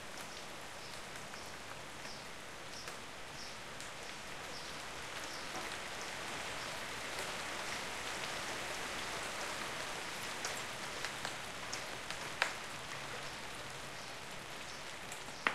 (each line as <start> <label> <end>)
0.0 rain 15.5